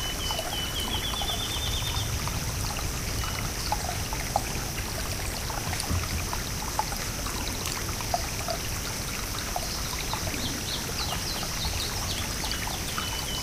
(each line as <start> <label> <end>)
0.0 birds singing in the field 2.2
0.0 crickets 2.3
0.0 stream running in the foreground 13.4
9.6 birds singing in the field 13.4